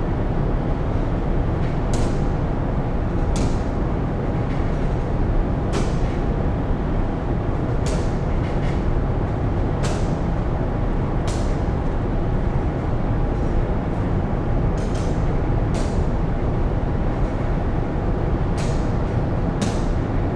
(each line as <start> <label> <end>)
0.0 room ventilation 20.3